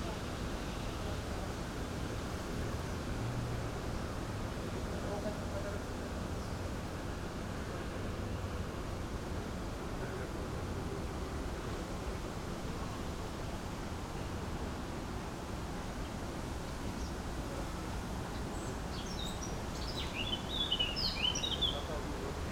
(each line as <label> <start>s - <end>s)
wind in the trees 0.0s - 22.5s